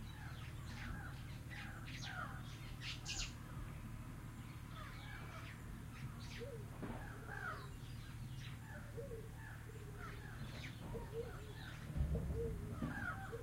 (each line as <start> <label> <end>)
0.0 Birds singing 13.4